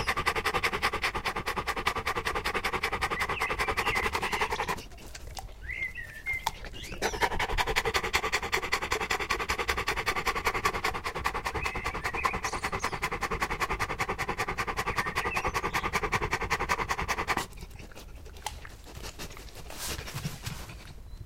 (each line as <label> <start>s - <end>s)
birds 0.0s - 18.0s
Dog panting 0.0s - 20.9s